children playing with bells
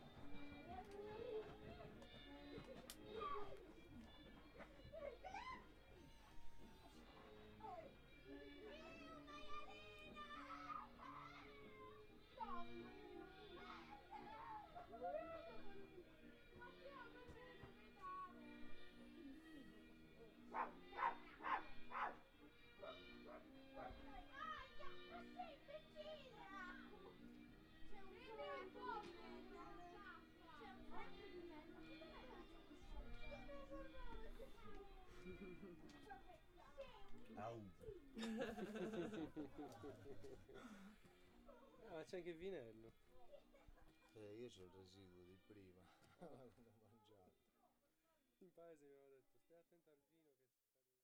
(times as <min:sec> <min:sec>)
0:22.6 0:37.2